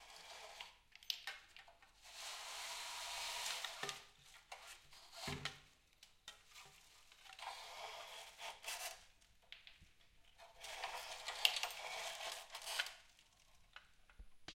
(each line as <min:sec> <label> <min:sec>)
0:00.0 Blinds being pulled up and down at various speeds 0:01.0
0:01.8 Blinds being pulled up and down at various speeds 0:05.5
0:06.5 Blinds being pulled up and down at various speeds 0:09.2
0:10.4 Blinds being pulled up and down at various speeds 0:13.7